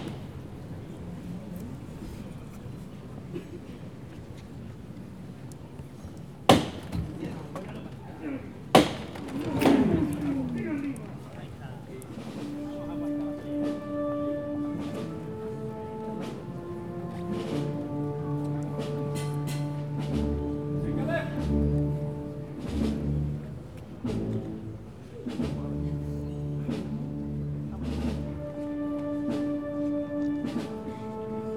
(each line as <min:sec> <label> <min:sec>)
0:12.2 band 0:31.5